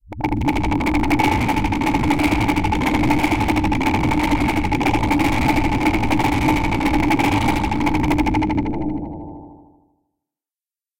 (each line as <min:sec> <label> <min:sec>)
0:00.0 low pitched noise pulses with vocal formant filtering 0:09.7
0:08.5 reverberant spectral sweep 0:09.8